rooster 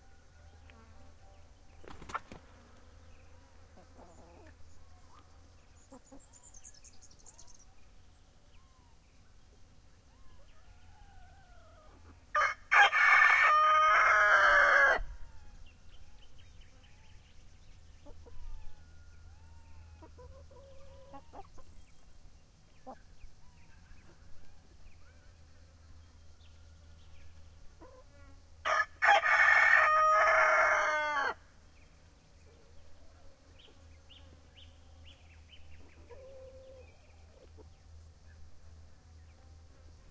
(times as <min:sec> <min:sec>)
0:10.1 0:15.6, 0:18.1 0:21.7, 0:28.7 0:31.4, 0:35.8 0:37.7